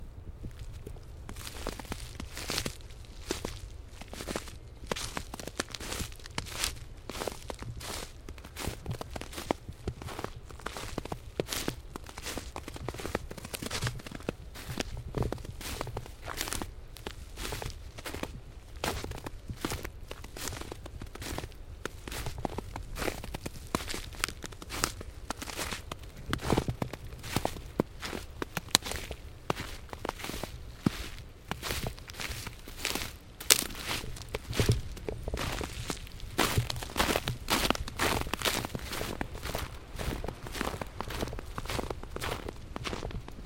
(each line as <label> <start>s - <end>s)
Walking on snow 0.4s - 43.4s
branches 23.1s - 43.0s